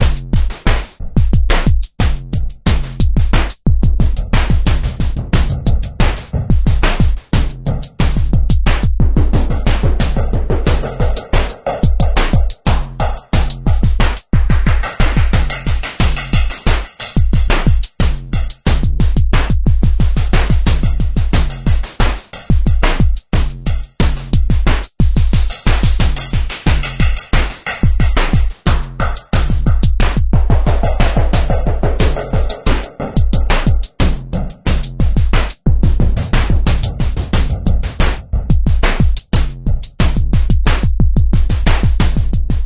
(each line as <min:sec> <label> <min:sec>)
0:00.0 drumloop 0:42.6